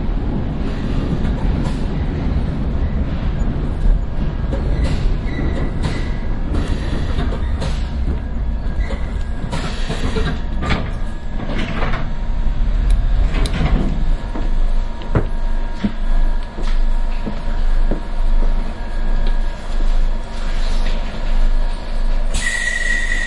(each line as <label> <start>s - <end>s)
train 0.0s - 23.2s